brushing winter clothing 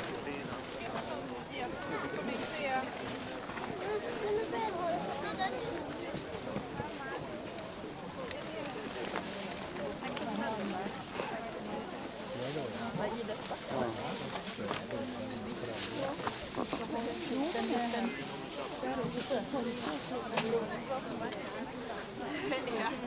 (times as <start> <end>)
15.3 20.7